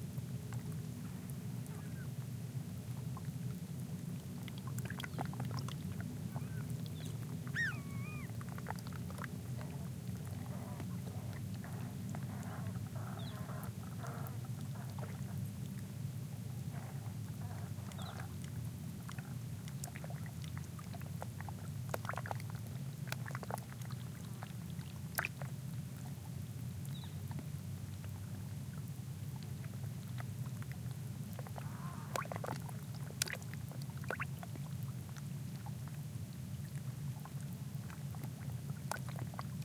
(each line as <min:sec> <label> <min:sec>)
0:01.7 bird calls 0:02.1
0:06.3 bird calls 0:08.3
0:13.0 bird calls 0:14.2